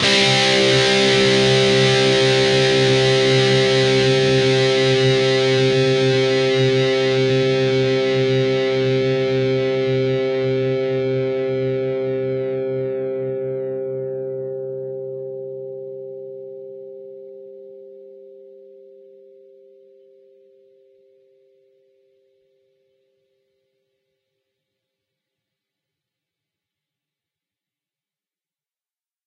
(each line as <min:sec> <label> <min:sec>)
0:00.0 distorted guitar 0:20.4